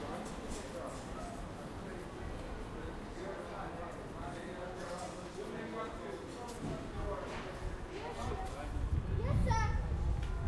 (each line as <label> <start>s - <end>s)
people 0.0s - 10.4s